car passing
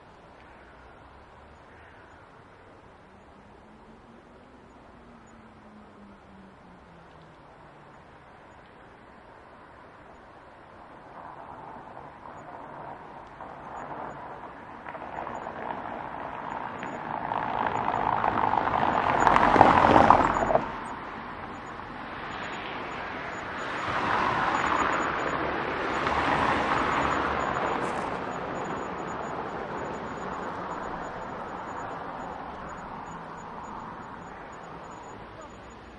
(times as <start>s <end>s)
9.0s 35.9s